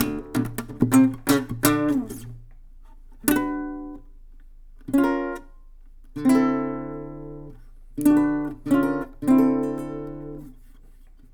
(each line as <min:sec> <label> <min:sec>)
0:00.0 acoustic guitar slap 0:04.1